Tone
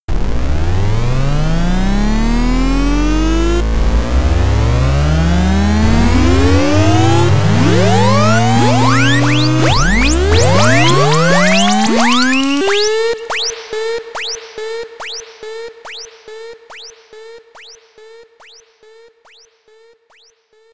0:05.2 0:17.8

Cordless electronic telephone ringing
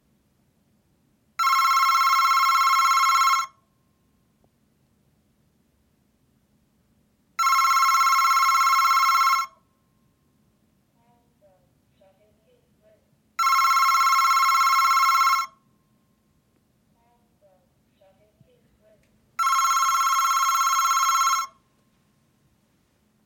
0:01.4 0:03.6, 0:07.4 0:09.6, 0:13.4 0:15.6, 0:19.4 0:21.6

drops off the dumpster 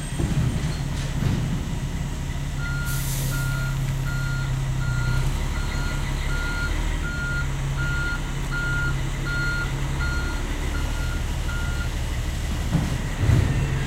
0:00.0 0:02.1, 0:12.4 0:13.8

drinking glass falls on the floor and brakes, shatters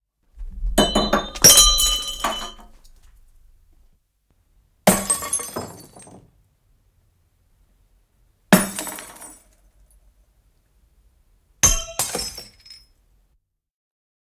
0:00.8 0:02.9, 0:04.9 0:06.3, 0:08.5 0:09.6, 0:11.6 0:13.0

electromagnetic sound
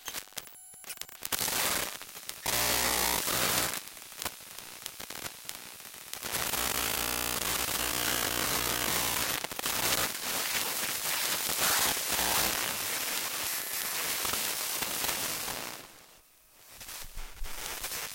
0:06.5 0:09.4, 0:11.6 0:12.7

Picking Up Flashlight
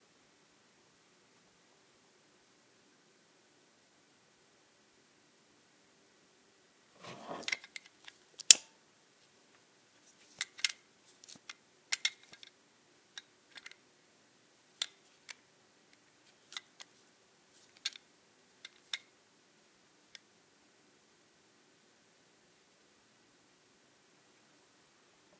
0:07.0 0:07.7

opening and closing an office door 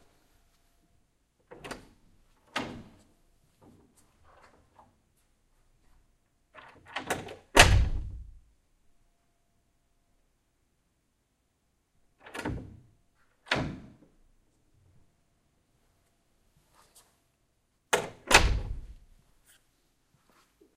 0:01.4 0:05.0, 0:06.5 0:08.4, 0:12.2 0:14.2, 0:17.9 0:19.1

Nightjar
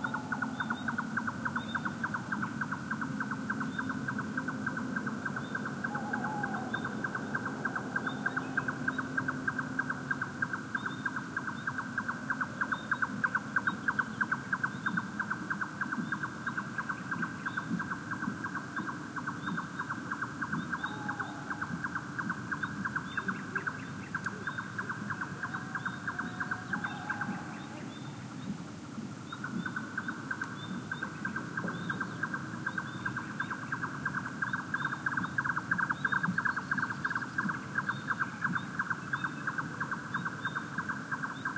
0:00.0 0:17.9, 0:18.6 0:28.4

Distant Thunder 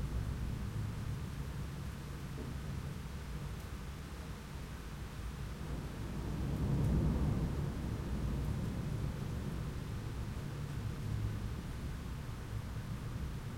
0:05.6 0:12.2

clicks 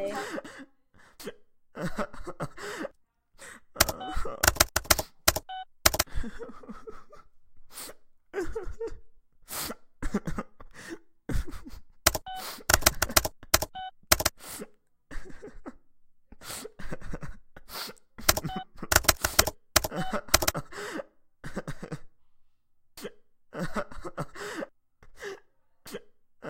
0:03.8 0:06.1, 0:12.1 0:14.3, 0:18.3 0:20.6

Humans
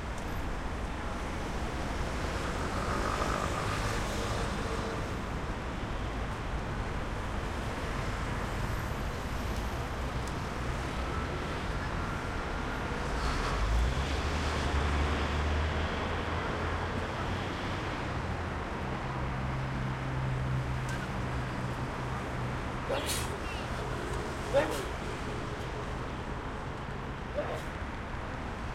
0:22.2 0:25.8, 0:27.3 0:27.8

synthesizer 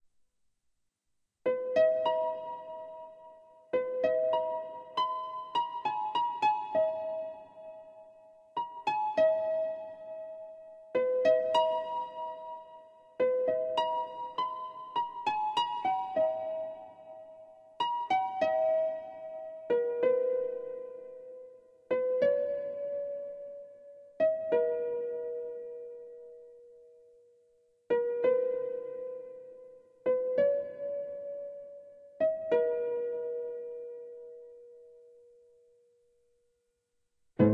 0:01.4 0:27.0

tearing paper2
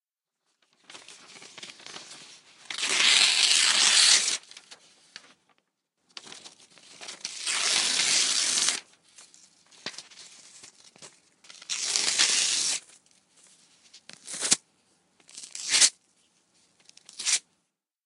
0:00.9 0:04.8, 0:06.2 0:08.9, 0:11.5 0:12.9, 0:14.1 0:14.6, 0:15.3 0:16.0, 0:16.9 0:17.4

